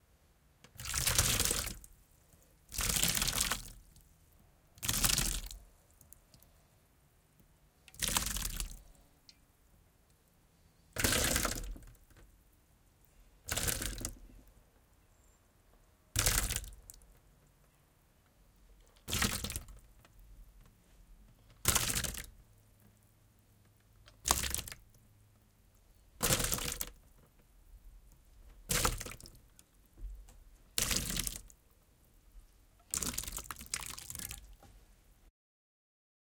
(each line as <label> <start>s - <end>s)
Pouring Soup in a Metal Pan 0.8s - 1.9s
Pouring Soup in a Metal Pan 11.0s - 11.9s
Pouring Soup in a Metal Pan 26.2s - 26.9s
Pouring Soup in a Metal Pan 28.7s - 29.4s
Pouring Soup in a Metal Pan 30.8s - 31.5s
Pouring Soup in a Metal Pan 32.9s - 34.6s